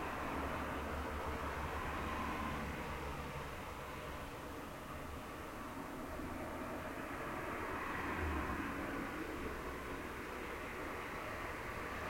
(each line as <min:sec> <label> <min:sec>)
0:00.0 Cars passing outside window 0:12.0